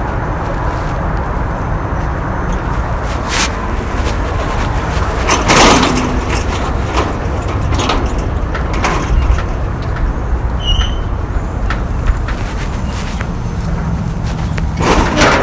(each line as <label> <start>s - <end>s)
metal gates squeaking in the wind 2.3s - 15.4s